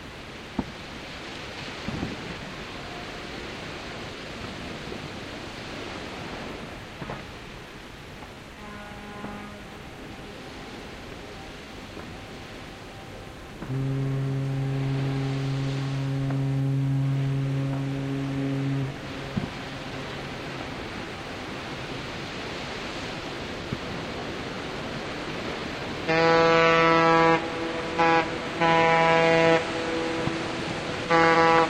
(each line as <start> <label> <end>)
8.5 blowing their horns 10.8
13.6 blowing their horns 21.0
26.0 blowing their horns 31.6